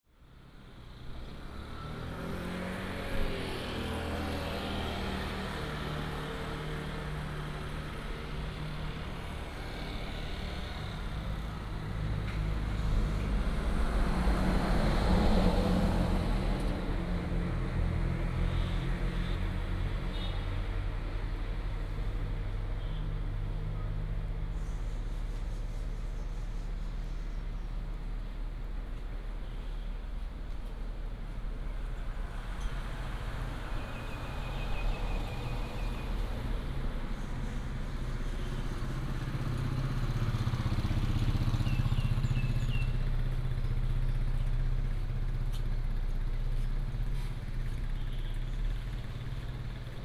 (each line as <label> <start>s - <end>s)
Traffic sound 0.1s - 50.0s